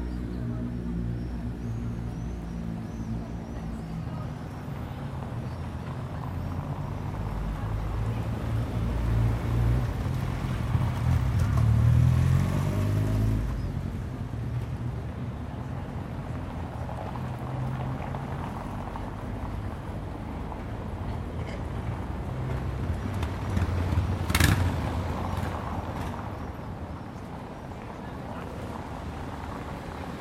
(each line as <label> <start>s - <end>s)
Mild traffic 0.0s - 30.2s
people passing by, talking 0.0s - 30.2s